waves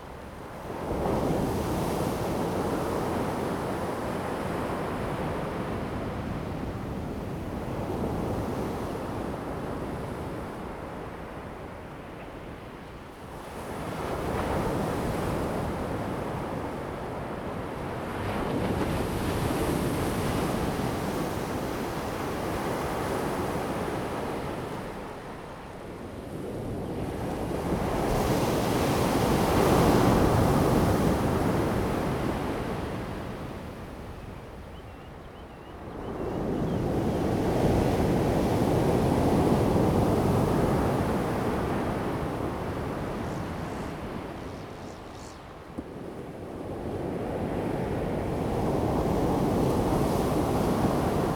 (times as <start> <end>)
27.4 51.3